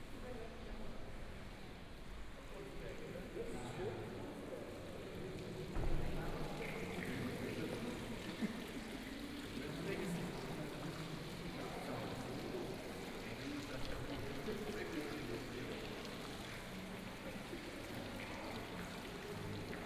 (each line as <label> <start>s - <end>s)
Fountain 2.4s - 19.8s